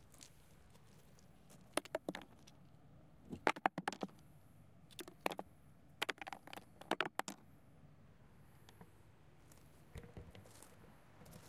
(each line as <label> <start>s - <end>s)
stones being thrown at an empty wooden log 1.6s - 2.6s
stones being thrown at an empty wooden log 3.3s - 4.2s
stones being thrown at an empty wooden log 4.9s - 7.4s
Walking on gravel 10.3s - 11.4s